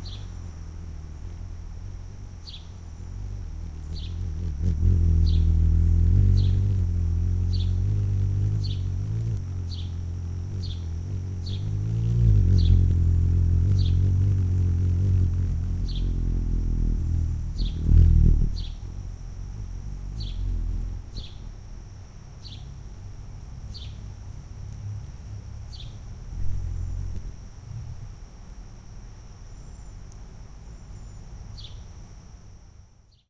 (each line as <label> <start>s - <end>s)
hummingbird feeding in a cluster of bee-balm 0.0s - 33.2s
rustling sounds as its wings brush against leaves 2.1s - 21.9s